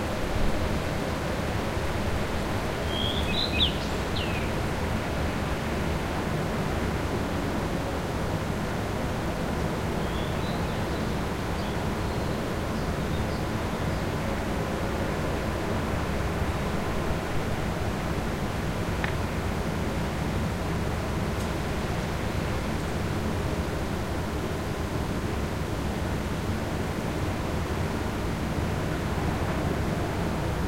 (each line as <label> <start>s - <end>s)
birdsong 2.9s - 4.6s